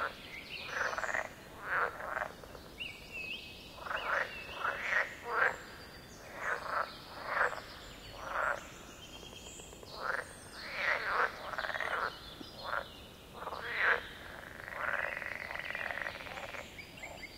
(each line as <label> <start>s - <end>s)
frogs 0.0s - 3.1s
birds 0.0s - 17.3s
frogs 3.7s - 17.3s